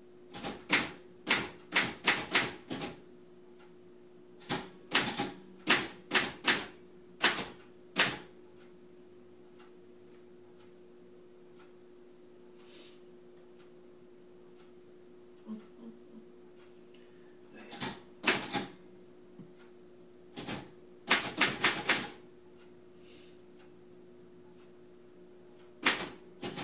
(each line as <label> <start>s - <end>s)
secretary typing on 1940s mechanical typewriter 0.3s - 3.0s
secretary typing on 1940s mechanical typewriter 4.4s - 8.3s
secretary typing on 1940s mechanical typewriter 17.7s - 18.7s
secretary typing on 1940s mechanical typewriter 20.4s - 22.2s
secretary typing on 1940s mechanical typewriter 25.8s - 26.6s